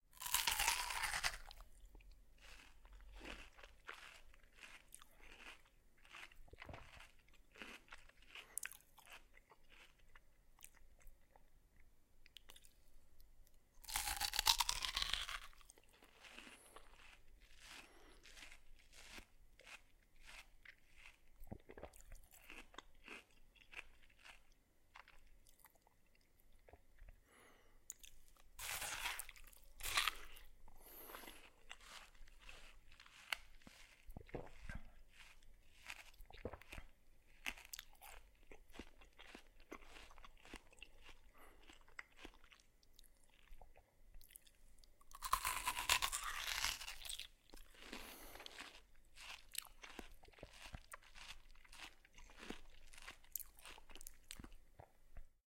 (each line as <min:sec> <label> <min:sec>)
0:00.2 Eating watermelon 0:12.8
0:13.8 Eating watermelon 0:55.3